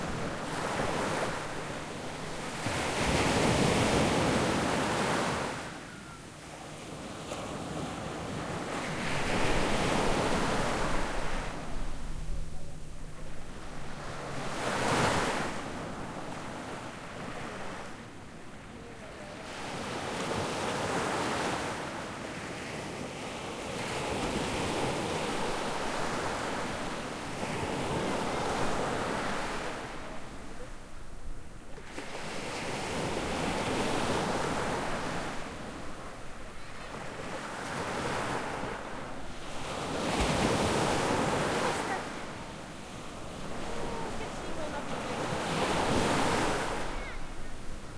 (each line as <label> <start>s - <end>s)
waves 0.0s - 47.9s